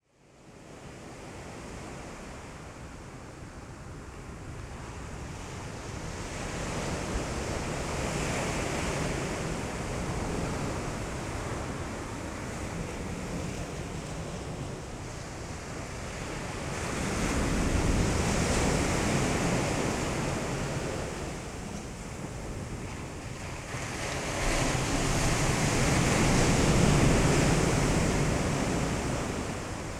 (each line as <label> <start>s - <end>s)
Ocean waves 0.6s - 29.9s